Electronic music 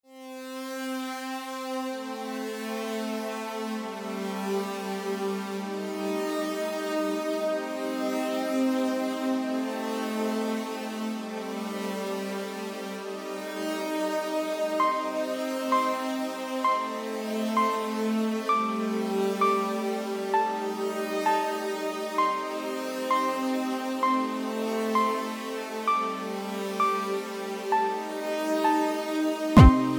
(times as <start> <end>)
14.7 29.9